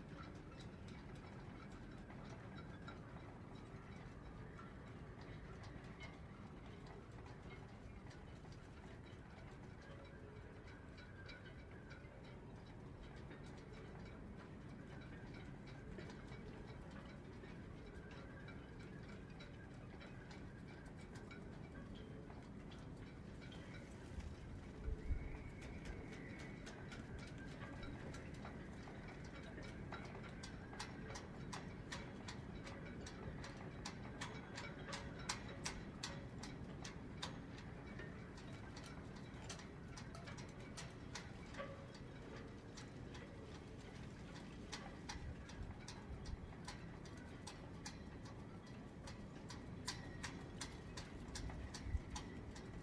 sea 0.0 - 52.8
wind 0.0 - 52.8

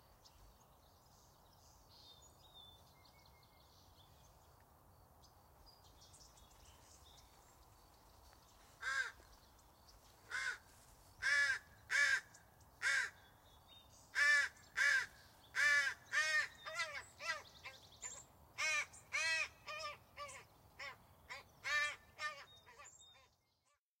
Crow cawing 8.8 - 9.2
Crow cawing 10.3 - 13.2
Crow cawing 14.2 - 17.8
Crow cawing 18.6 - 23.0

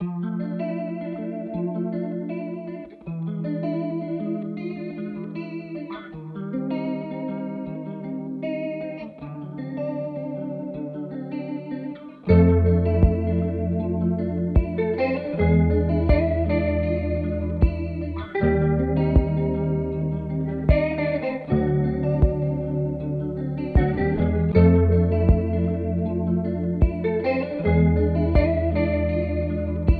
guitar chord sequence 0.0 - 29.9
simple drums 13.0 - 13.3
simple drums 14.6 - 14.8
simple drums 16.1 - 16.4
simple drums 17.6 - 17.9
simple drums 19.2 - 19.4
simple drums 20.7 - 20.9
simple drums 23.8 - 24.0
simple drums 25.3 - 25.5
simple drums 26.8 - 27.0
simple drums 28.4 - 28.6

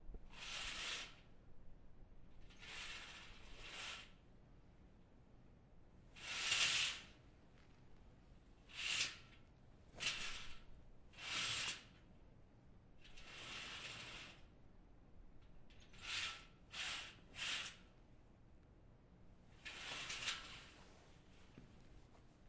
curtains being dragged 0.3 - 1.3
curtains being dragged 2.5 - 4.2
curtains being dragged 6.2 - 7.2
curtains being dragged 10.0 - 10.6
curtains being dragged 11.2 - 11.9
curtains being dragged 13.2 - 14.5
curtains being dragged 19.6 - 21.2

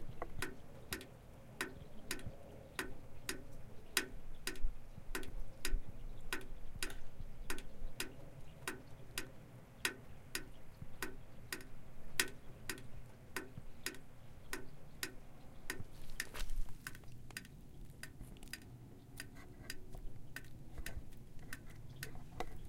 Water falling to the bottom of a rain gutter 0.0 - 22.6

